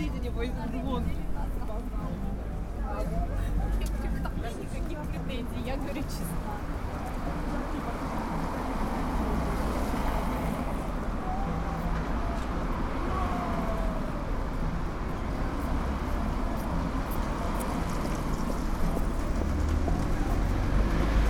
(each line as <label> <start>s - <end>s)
Cars are passing by 0.0s - 21.2s
people are speaking in the background 0.0s - 21.2s